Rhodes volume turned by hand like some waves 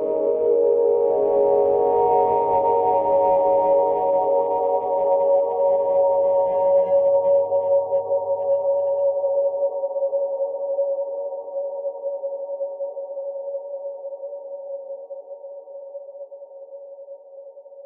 0:00.0 0:13.4

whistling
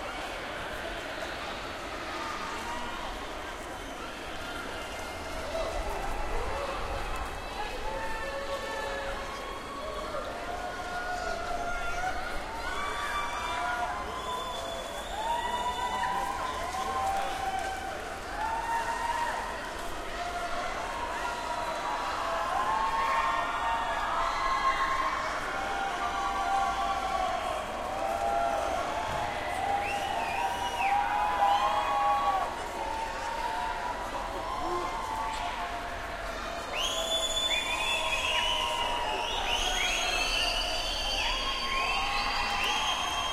0:14.1 0:16.1, 0:29.8 0:31.6, 0:36.7 0:43.3

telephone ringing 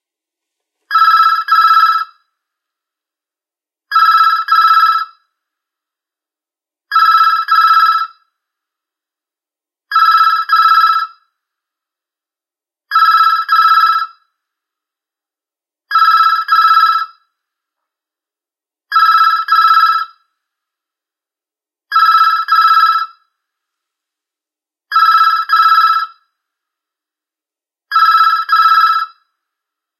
0:00.9 0:02.2, 0:03.9 0:05.2, 0:06.9 0:08.2, 0:09.9 0:11.2, 0:12.9 0:14.1, 0:15.9 0:17.2, 0:18.9 0:20.2, 0:21.9 0:23.3, 0:24.9 0:26.2, 0:27.9 0:29.3

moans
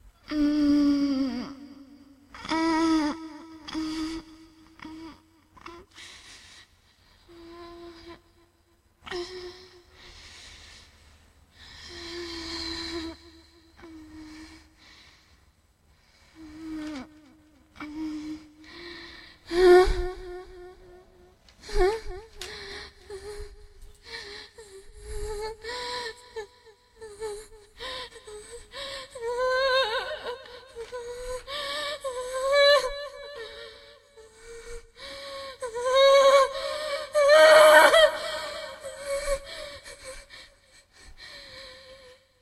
0:16.4 0:42.3

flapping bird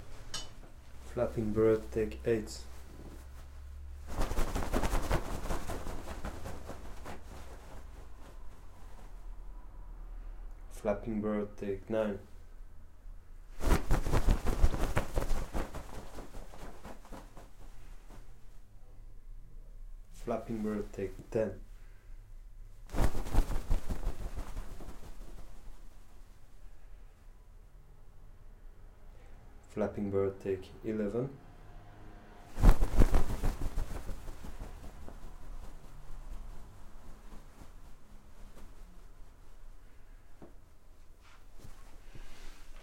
0:04.0 0:09.0, 0:13.6 0:18.3, 0:22.9 0:25.9, 0:32.5 0:39.2

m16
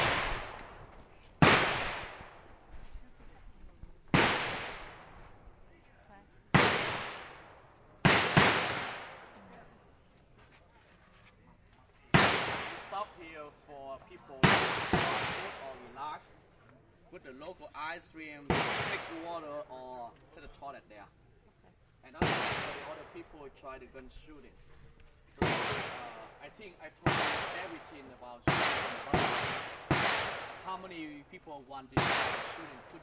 0:00.0 0:02.7, 0:04.1 0:05.9, 0:06.5 0:09.6, 0:12.1 0:13.6, 0:14.3 0:16.3, 0:18.4 0:19.9, 0:22.0 0:23.7, 0:25.3 0:33.0

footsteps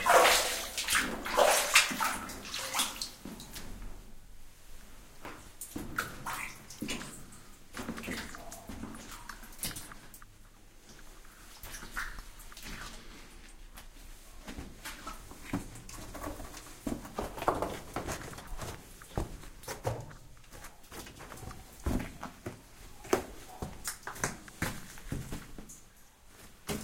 0:07.8 0:26.8

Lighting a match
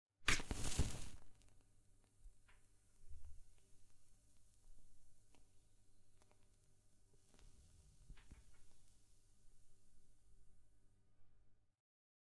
0:00.3 0:01.7

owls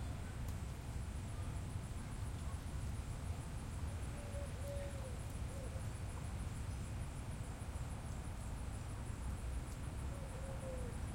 0:10.1 0:11.0

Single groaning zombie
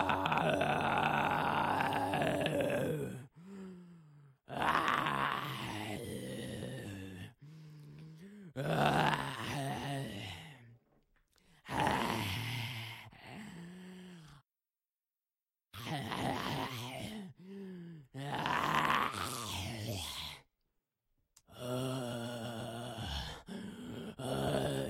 0:00.0 0:03.3, 0:18.2 0:20.4

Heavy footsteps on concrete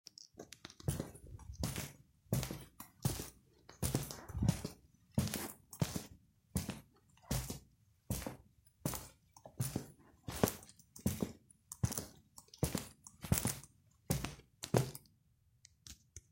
0:00.9 0:12.0

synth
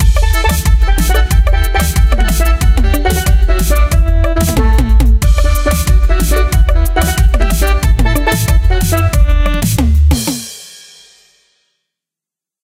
0:00.0 0:09.8

